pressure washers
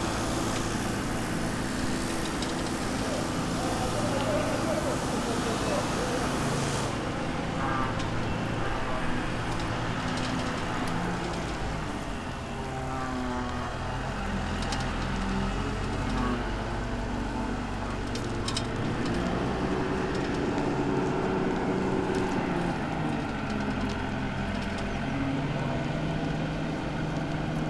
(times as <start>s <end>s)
0.0s 10.7s